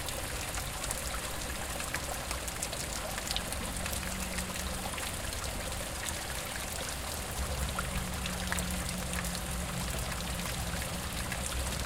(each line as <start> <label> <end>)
0.0 Waterfall from wastewater pipe 11.8